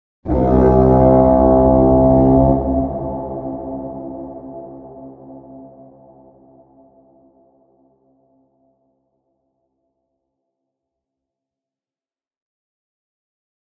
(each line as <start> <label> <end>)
0.2 war horn 7.4